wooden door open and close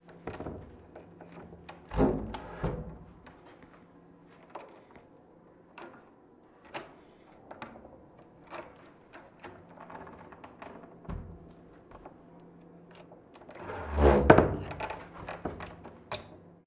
0.2 3.3, 6.7 12.2, 13.6 16.4

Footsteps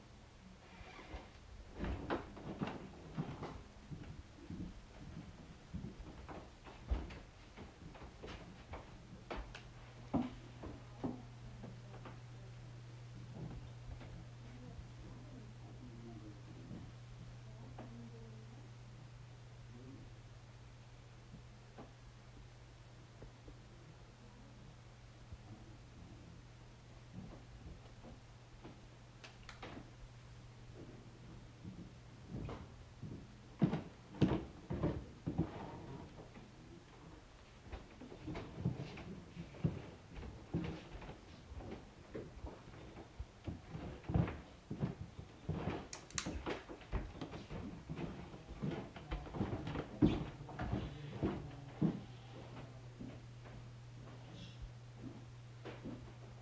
37.4 56.3

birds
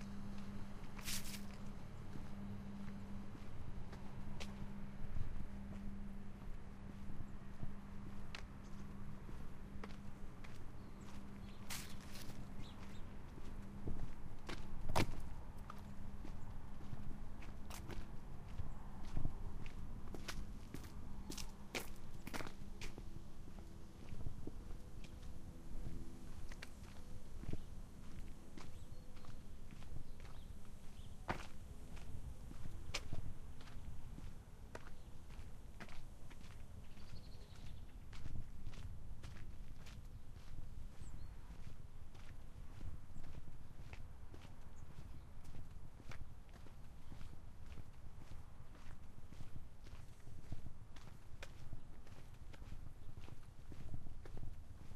6.4 50.4

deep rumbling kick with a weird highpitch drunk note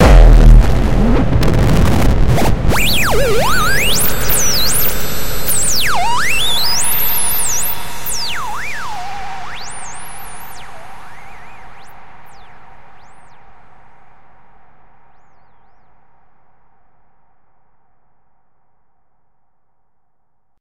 0.0 14.0

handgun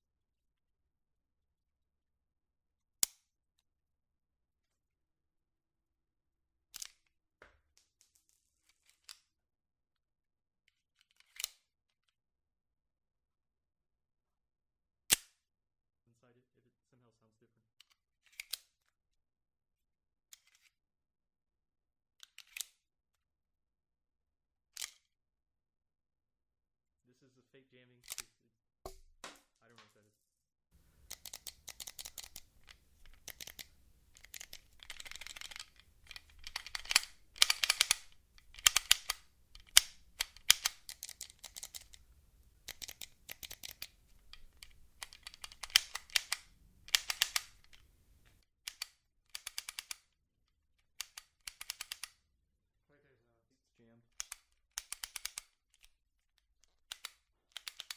31.1 42.0, 42.7 47.7

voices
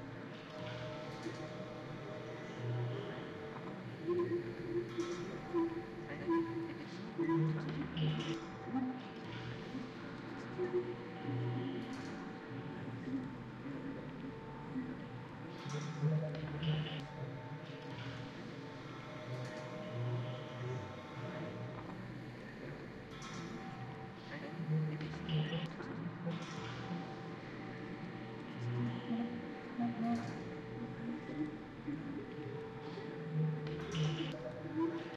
3.4 17.1, 24.2 35.1

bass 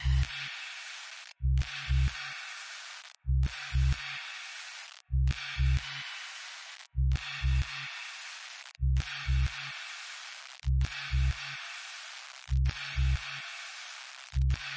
0.0 0.3, 1.4 2.2, 3.2 4.0, 5.0 5.9, 6.9 7.8, 8.8 9.6, 10.6 11.4, 12.5 13.2, 14.4 14.7

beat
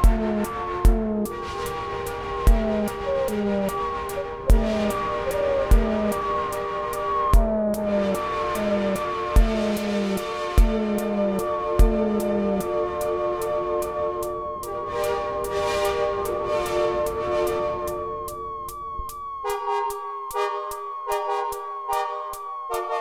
0.0 1.4, 2.4 12.8

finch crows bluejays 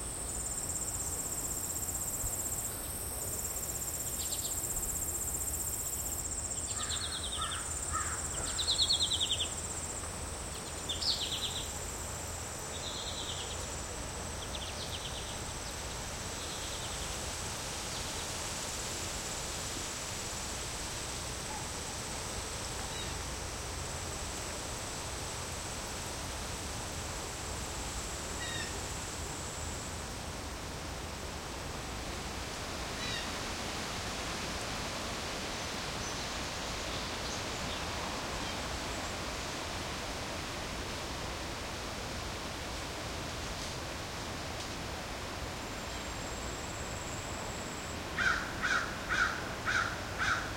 6.8 9.0, 48.2 50.5

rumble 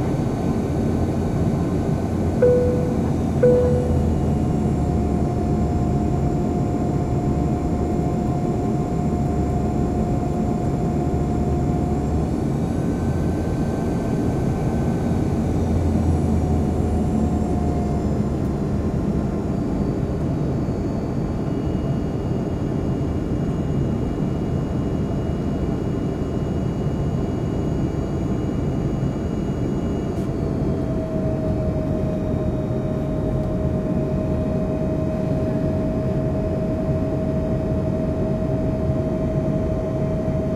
2.4 5.7

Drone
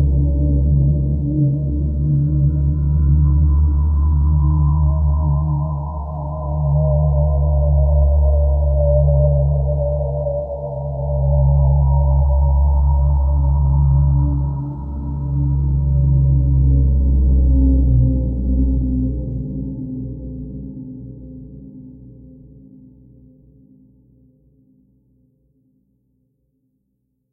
0.0 21.2

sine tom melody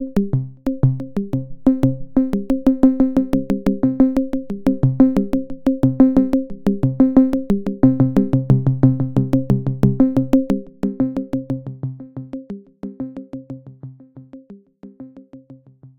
0.0 7.1

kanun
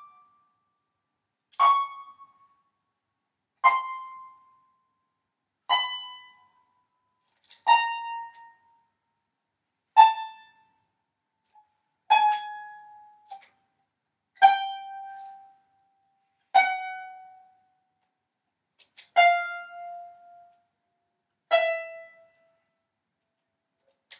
11.5 13.8, 14.4 17.6, 18.8 20.7

